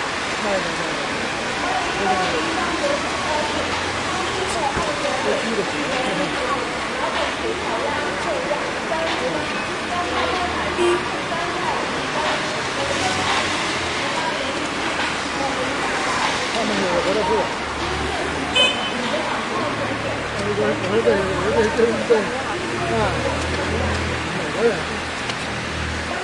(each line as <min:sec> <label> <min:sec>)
0:00.0 Large Crowd 0:26.2
0:00.0 rain 0:26.2